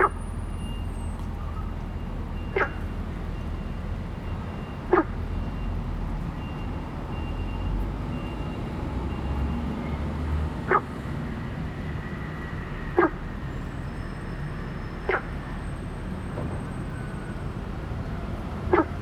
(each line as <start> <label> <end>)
0.0 Traffic Sound 19.0
10.7 Frog sound 10.9
13.0 Frog sound 13.2